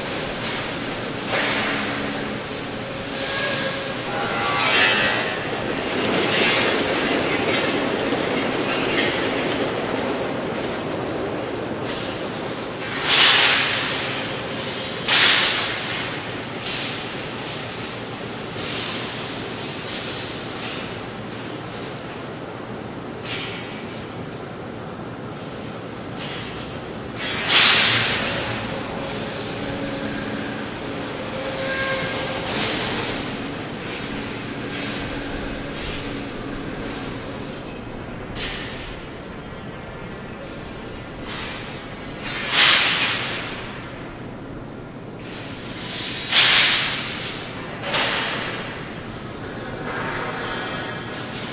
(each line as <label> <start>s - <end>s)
heavy machinery 0.0s - 51.5s